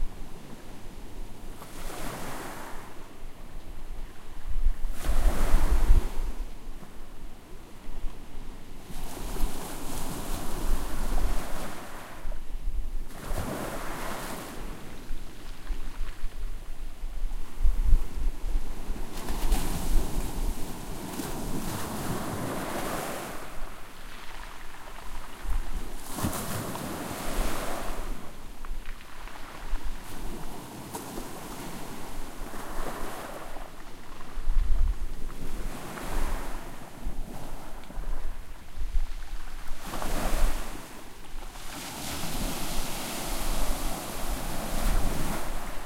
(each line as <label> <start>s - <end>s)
Waves washing up onto the pebbled shore 19.1s - 45.8s